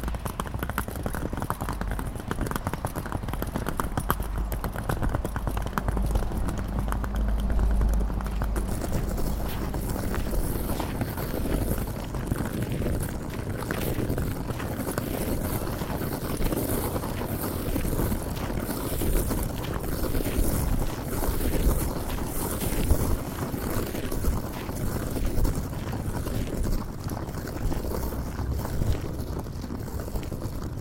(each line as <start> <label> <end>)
0.0 walking with a trolley 30.8